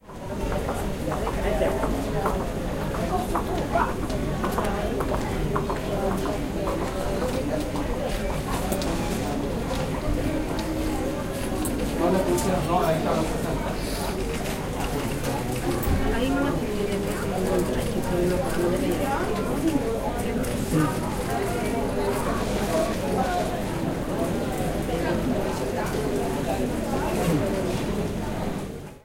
chatter 0:00.0 - 0:29.0

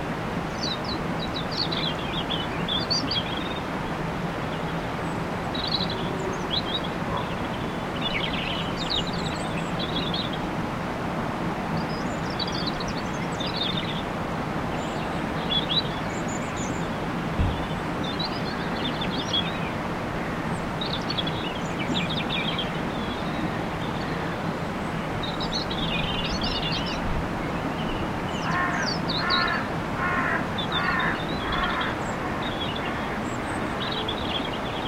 Blackbirds 0:00.5 - 0:10.5
Blackbirds 0:11.8 - 0:34.8
Robins 0:14.7 - 0:34.8
crows 0:28.4 - 0:33.2

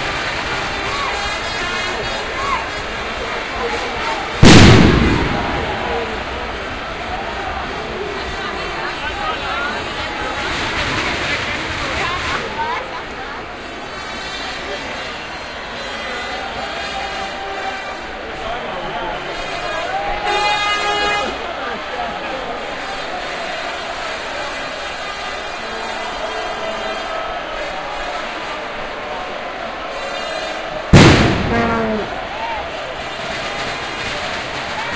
fireworks 0:00.0 - 0:15.2
crowd 0:00.0 - 0:34.9
fireworks 0:29.8 - 0:34.9

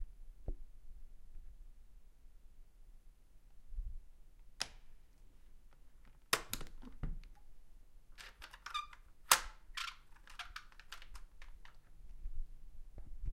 apartment door closing and locking 0:08.2 - 0:11.8

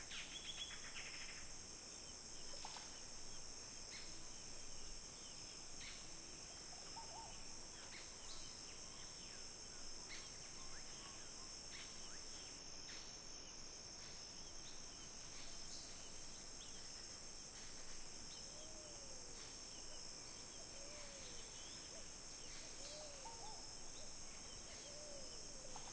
insects 0:00.0 - 0:25.9

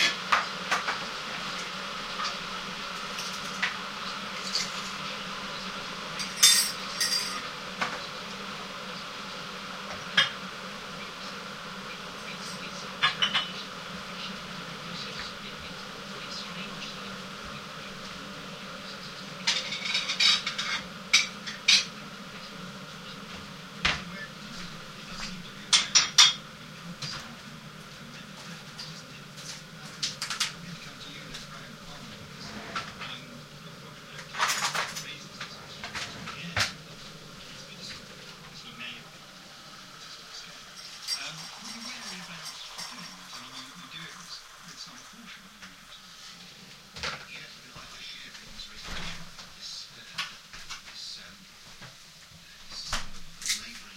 boiling a kettle 0:00.0 - 0:53.9
radio 0:00.0 - 0:53.9

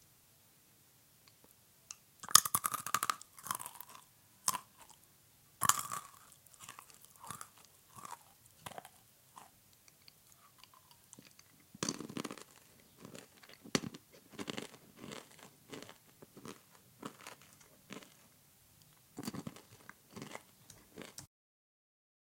Chewing something crunchy 0:02.2 - 0:05.0
Chewing something crunchy 0:05.6 - 0:21.3

